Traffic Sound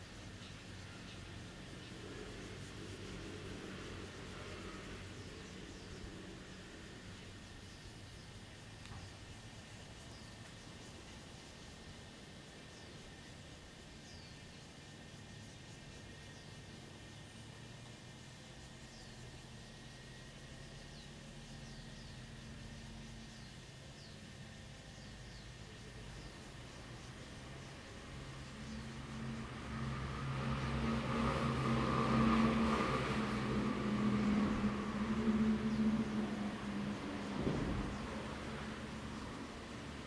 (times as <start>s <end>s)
24.2s 40.0s